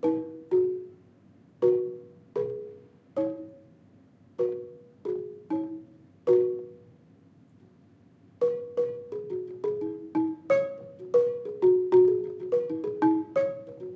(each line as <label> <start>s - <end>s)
Asian xylophone 0.0s - 1.0s
Asian xylophone 1.6s - 3.8s
Asian xylophone 4.4s - 6.9s
Asian xylophone 8.4s - 13.9s